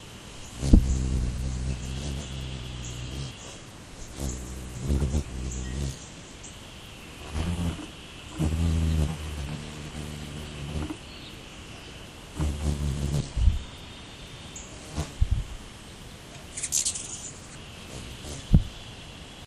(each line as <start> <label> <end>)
0.4 hummingbirds fly after each other and fight 6.2
7.0 hummingbirds fly after each other and fight 13.8
14.8 hummingbirds fly after each other and fight 15.6
16.4 hummingbirds fly after each other and fight 18.9